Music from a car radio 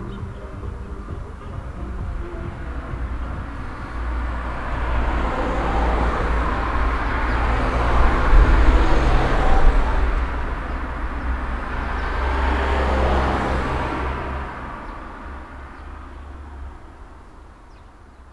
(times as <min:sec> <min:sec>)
0:00.0 0:09.2